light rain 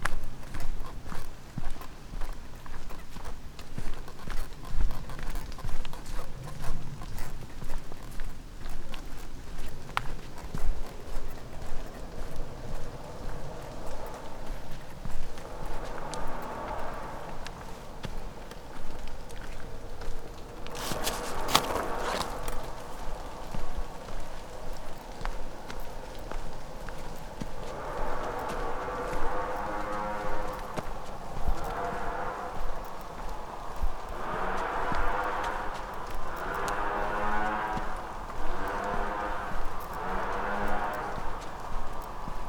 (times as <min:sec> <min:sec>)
0:10.6 0:42.4